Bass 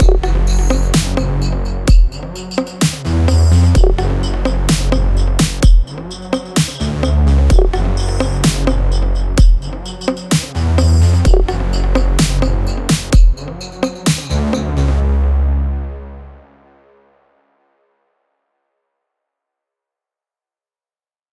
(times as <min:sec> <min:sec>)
0:00.0 0:16.9